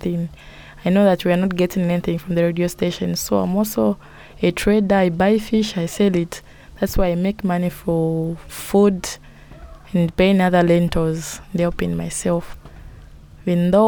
children of the caretaker are playing in the yard 0:07.7 - 0:12.9

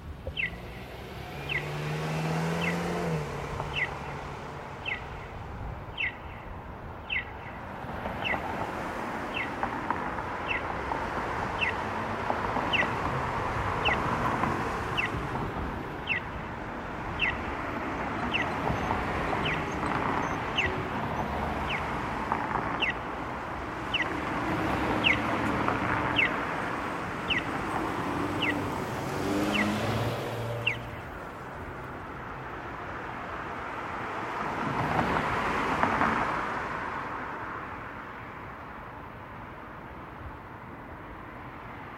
car running 0:00.0 - 0:32.5

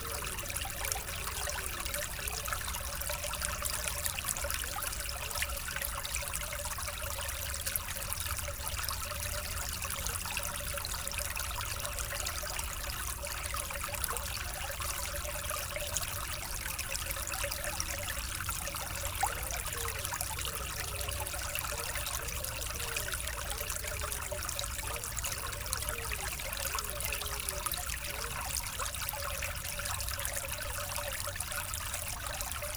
small stream flowing behind the houses 0:00.0 - 0:32.7

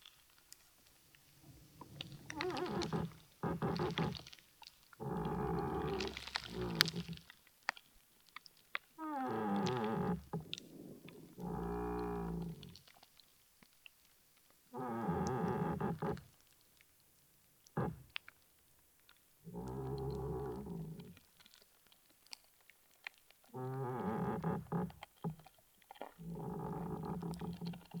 moaning tree 0:01.3 - 0:04.4
moaning tree 0:05.0 - 0:07.2
moaning tree 0:09.0 - 0:12.8
moaning tree 0:14.8 - 0:16.2
moaning tree 0:17.8 - 0:18.1
moaning tree 0:19.5 - 0:21.2
moaning tree 0:23.6 - 0:24.9
moaning tree 0:26.2 - 0:28.0

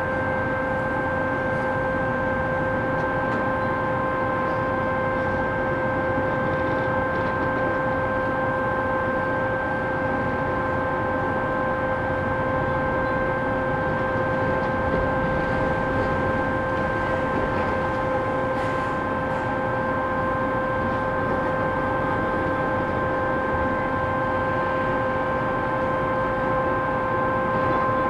noise of different excavators 0:00.1 - 0:28.0

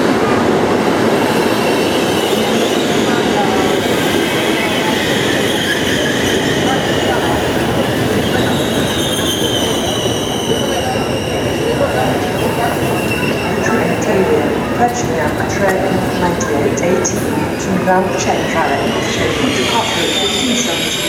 Jumping off a train in arrival 0:00.0 - 0:21.0
crowd 0:00.0 - 0:21.0

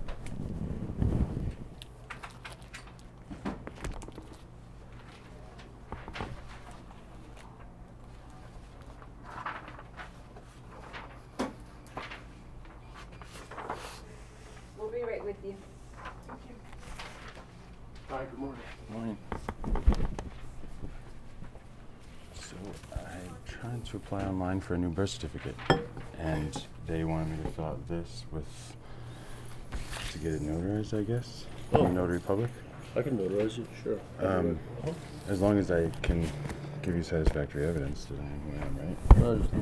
conversations from mr. vaughn's coworkers 0:12.9 - 0:19.6
conversations from mr. vaughn's coworkers 0:20.3 - 0:39.6

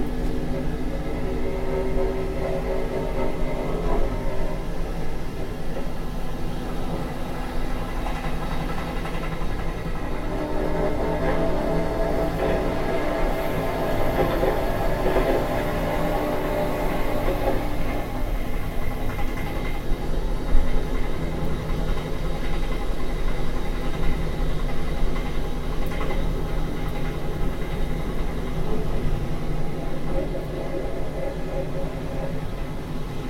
on the train 0:00.0 - 0:33.2

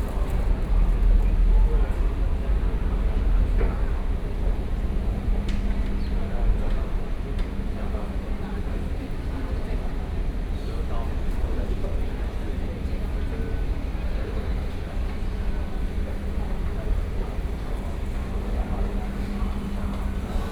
Walking in the station 0:00.0 - 0:20.5

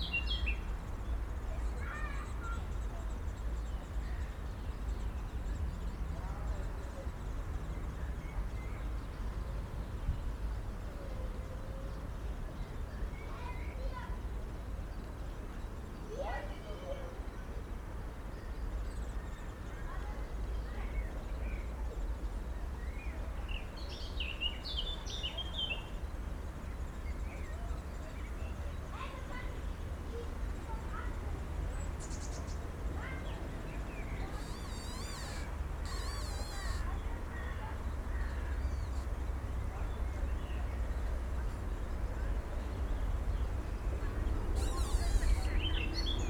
kids are playing behind the bushes 0:00.0 - 0:07.2
kids are playing behind the bushes 0:12.0 - 0:46.2
young birds in a nest 0:33.9 - 0:39.2
squeaking tree 0:34.1 - 0:37.2
squeaking tree 0:44.5 - 0:45.9
young birds in a nest 0:44.6 - 0:46.1

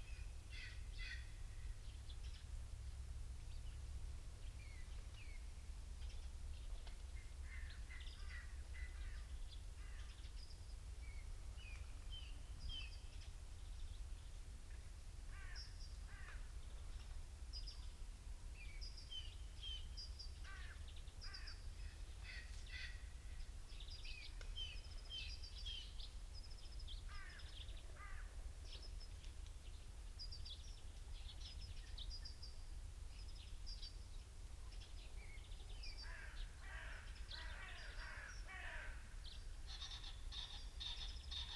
pheasant calls 0:39.6 - 0:41.5

